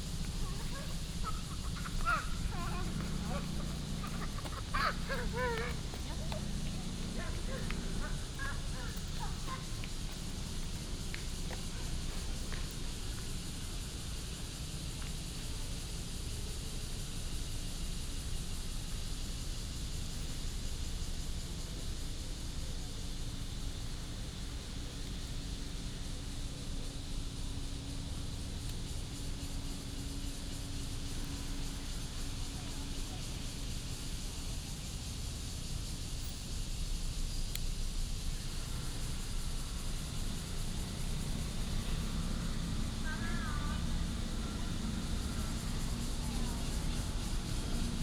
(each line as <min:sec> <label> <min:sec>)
0:00.0 Bird calls 0:10.2
0:00.0 Traffic Sound 0:12.9
0:00.0 Cicadas cry 0:48.0
0:38.4 Traffic Sound 0:48.0